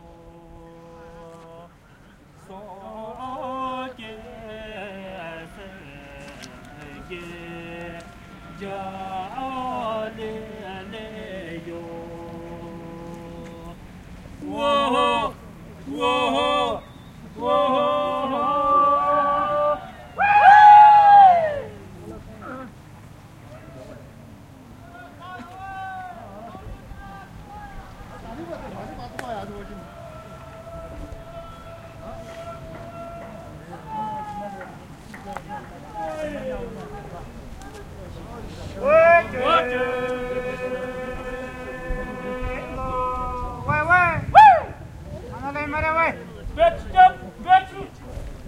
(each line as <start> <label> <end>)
0.0 singing songs of encouragement 48.4